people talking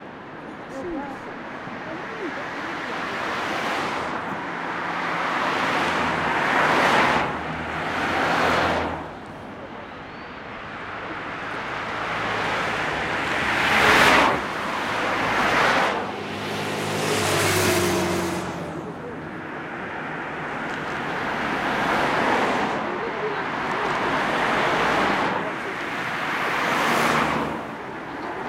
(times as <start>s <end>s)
0.6s 3.7s, 9.4s 12.0s, 18.4s 19.9s, 22.2s 28.4s